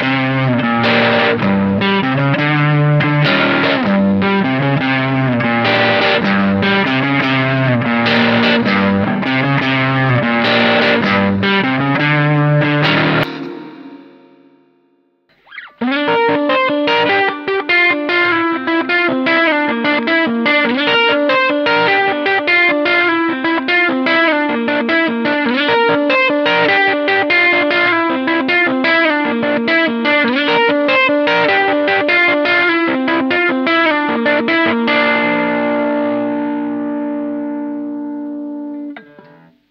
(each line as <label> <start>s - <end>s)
played on Les Paul 0.0s - 39.7s